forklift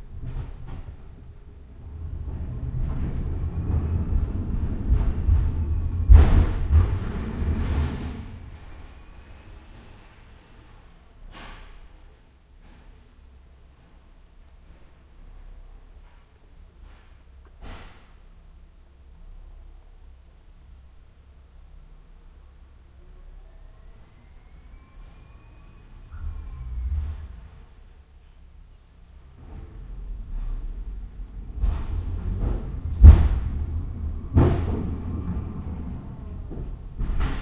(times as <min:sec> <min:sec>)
0:00.1 0:10.8, 0:29.2 0:37.4